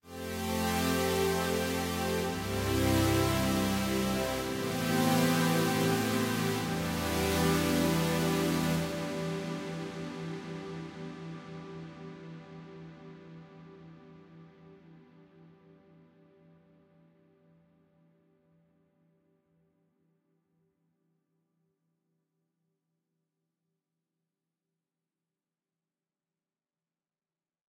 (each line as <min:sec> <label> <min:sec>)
0:00.1 Smooth pads with gospel chords 0:11.7